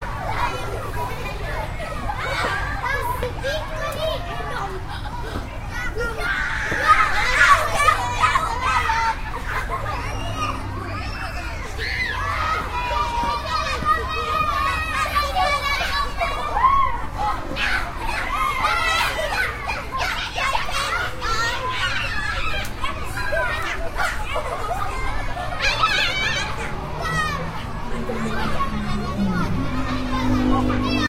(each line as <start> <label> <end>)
0.0 Children playing in a playground 31.0